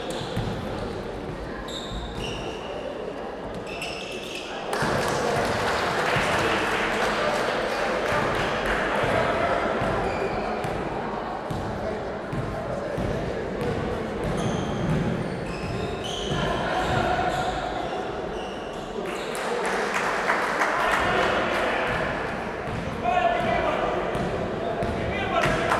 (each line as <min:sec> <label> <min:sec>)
0:00.0 basketball 0:02.6
0:08.0 basketball 0:17.8
0:21.8 basketball 0:25.7